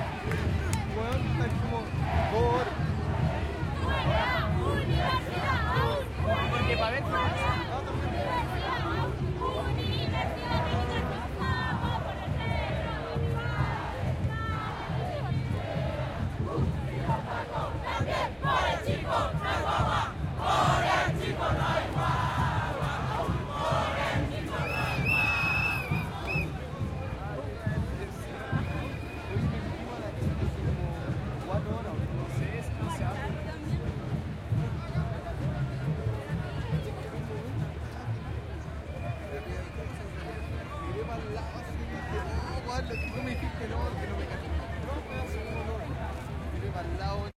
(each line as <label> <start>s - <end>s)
drums 0.0s - 47.3s
conversaciones 0.0s - 47.3s
crowd 0.0s - 47.3s